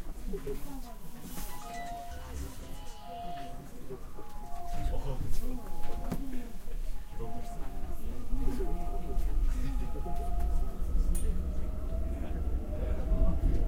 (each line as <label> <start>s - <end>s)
Metro information from speakers in Korean and English 0.0s - 13.6s
Metro information sounds 0.0s - 13.6s
Music from the advertisements 1.4s - 10.6s